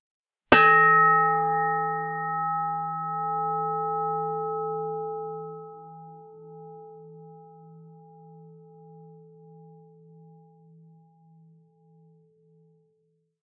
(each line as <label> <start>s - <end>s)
Bell sound 0.6s - 5.8s